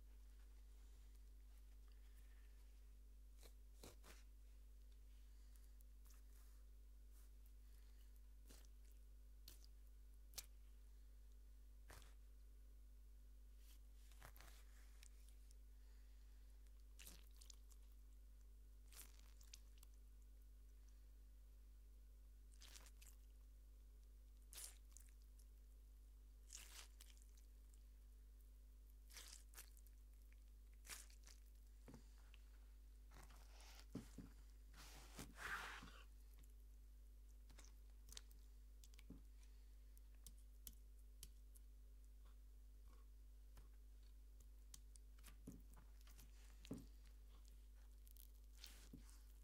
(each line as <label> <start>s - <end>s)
Grapefruit Squish 3.4s - 4.3s
Grapefruit Squish 7.7s - 10.6s
Grapefruit Squish 11.8s - 12.2s
Grapefruit Squish 14.1s - 15.3s
Grapefruit Squish 16.7s - 18.0s
Grapefruit Squish 18.8s - 20.0s
Grapefruit Squish 22.5s - 23.4s
Grapefruit Squish 24.4s - 25.4s
Grapefruit Squish 26.4s - 27.8s
Grapefruit Squish 28.9s - 36.5s
Grapefruit Squish 37.3s - 49.4s